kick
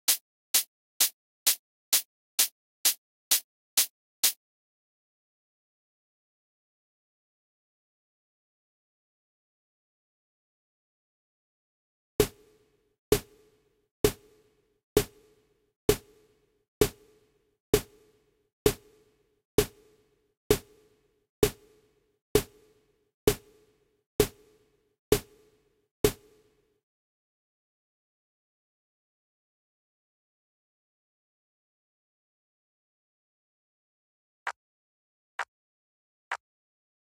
24.2s 24.4s, 26.0s 26.4s

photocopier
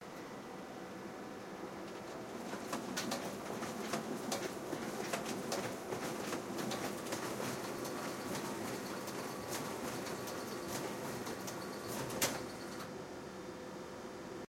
1.8s 12.9s

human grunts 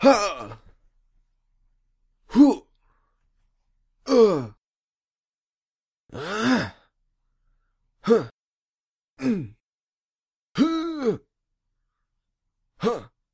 0.0s 0.7s, 2.3s 2.7s, 4.1s 4.6s, 6.1s 6.9s, 8.0s 8.4s, 9.2s 9.6s, 10.6s 11.3s, 12.8s 13.2s

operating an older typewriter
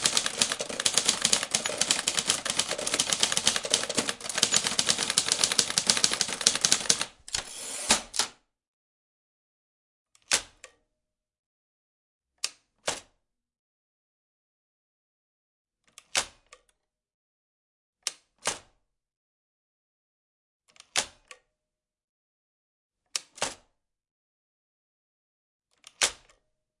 0.0s 8.4s

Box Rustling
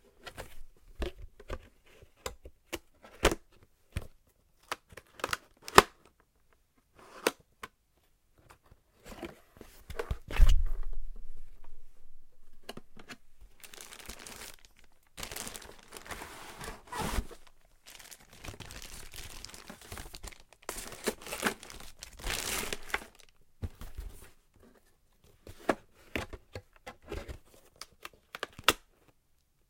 12.4s 24.4s

